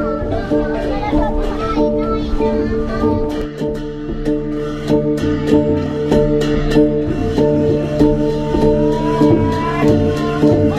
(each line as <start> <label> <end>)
0.0 drums 10.7
3.2 cymbals hanging in a wood structure 10.7
3.3 Cymbals 10.7